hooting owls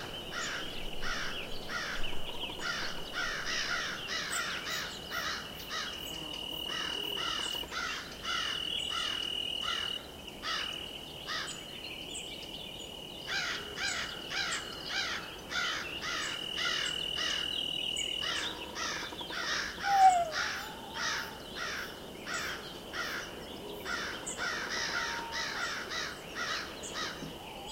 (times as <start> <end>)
18.2 22.5